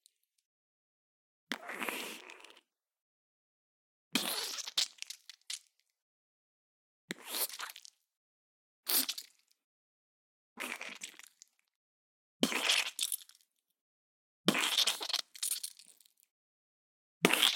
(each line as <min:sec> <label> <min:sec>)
0:01.5 squish 0:02.6
0:04.2 squish 0:05.9
0:07.1 squish 0:08.0
0:08.9 squish 0:09.5
0:10.6 squish 0:11.6
0:12.4 squish 0:13.4
0:14.5 squish 0:16.3